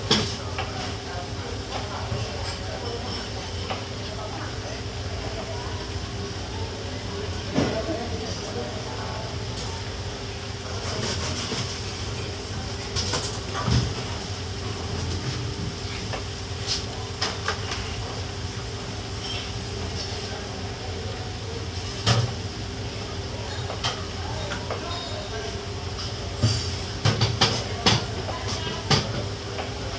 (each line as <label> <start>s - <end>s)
kitchenware 0.0s - 5.5s
kitchenware 7.3s - 29.9s